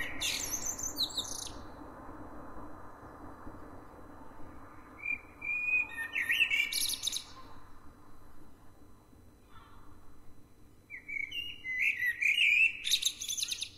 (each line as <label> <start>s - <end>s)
birdsong 0.0s - 1.6s
birdsong 5.0s - 7.7s
birdsong 10.8s - 13.7s